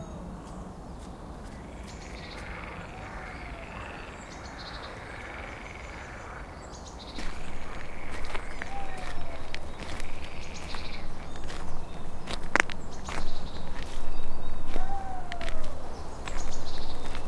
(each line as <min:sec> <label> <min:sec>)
0:00.0 birdsong 0:17.2